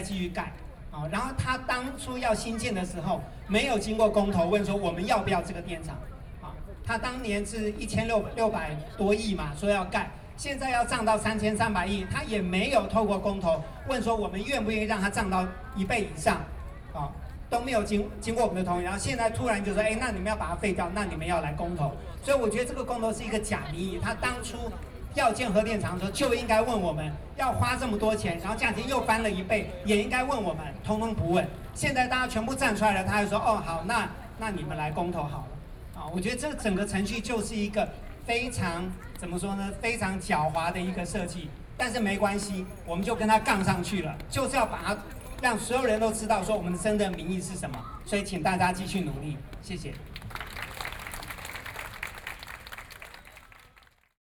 Speech 0:00.0 - 0:50.1

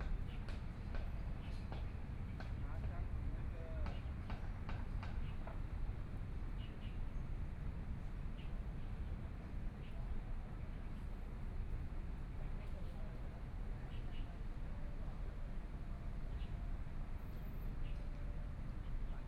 Birds sound 0:00.0 - 0:11.4
Traffic Sound 0:00.0 - 0:19.2
Birds sound 0:12.9 - 0:14.9
Birds sound 0:16.0 - 0:19.2

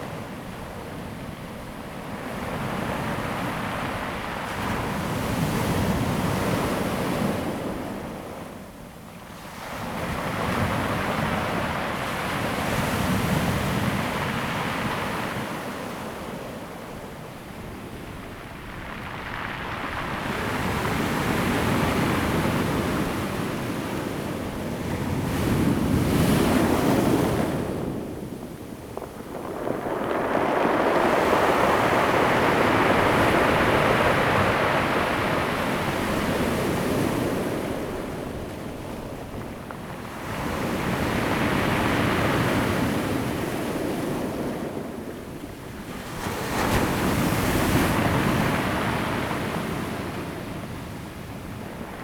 waves 0:00.0 - 0:52.0

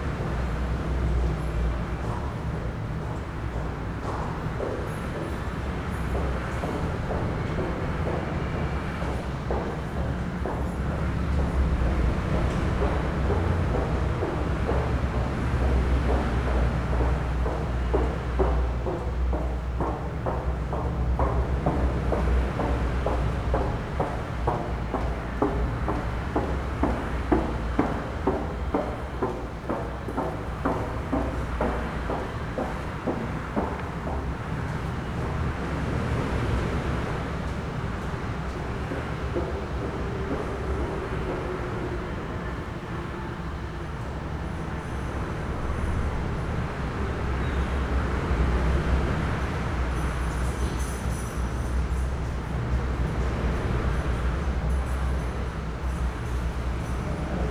traffic 0:00.0 - 0:57.5
footsteps 0:06.0 - 0:35.4
footsteps 0:38.0 - 0:41.5

